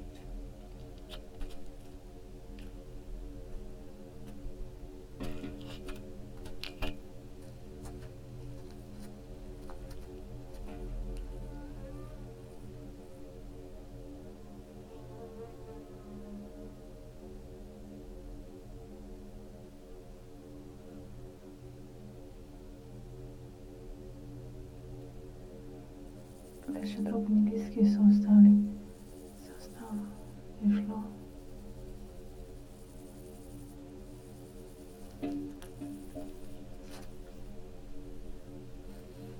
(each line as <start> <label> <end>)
28.9 sand and tiny stones 37.6